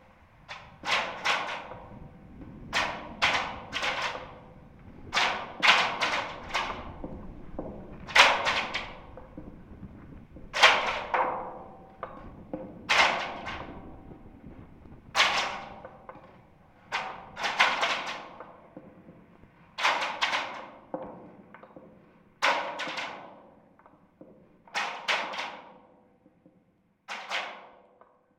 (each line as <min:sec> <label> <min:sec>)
0:02.7 Clanging wires inside a lamp post 0:09.5